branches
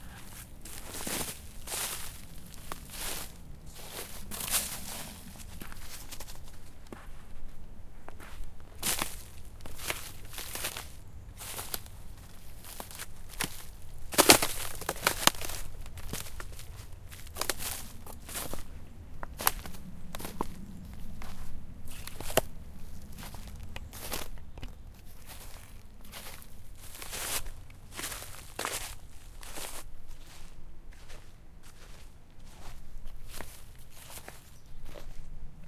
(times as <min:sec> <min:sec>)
0:08.8 0:31.2